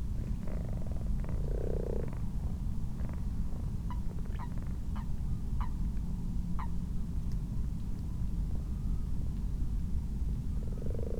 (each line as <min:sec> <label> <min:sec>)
0:00.2 common frogs 0:05.7
0:00.4 common toads 0:02.2
0:10.6 common frogs 0:11.1
0:10.6 common toads 0:11.1